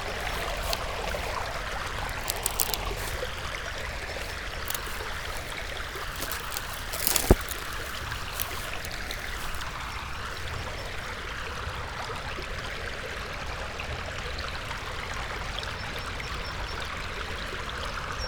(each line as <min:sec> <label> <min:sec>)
0:00.0 stream 0:18.2